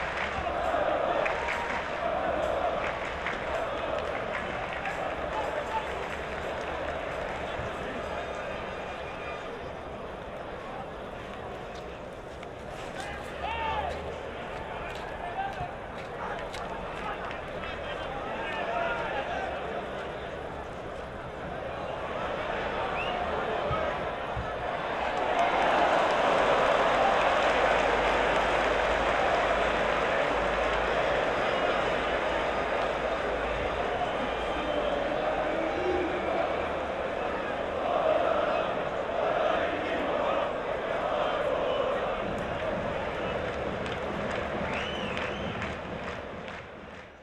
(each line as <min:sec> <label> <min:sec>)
0:00.0 soccer match 0:47.2